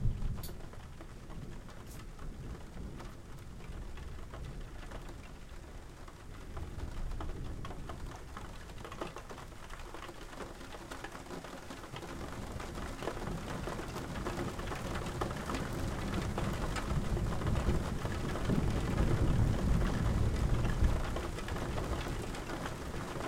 0.0s Big rain 23.2s
16.0s thunder 22.1s

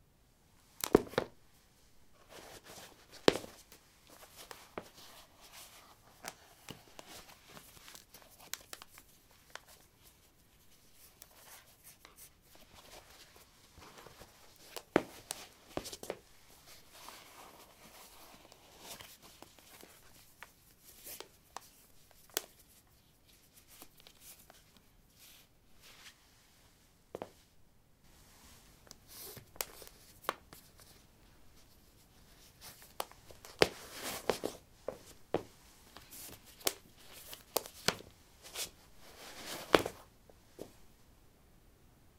0.8s Putting low sneakers on/off on linoleum 1.4s
39.4s Putting low sneakers on/off on linoleum 40.0s

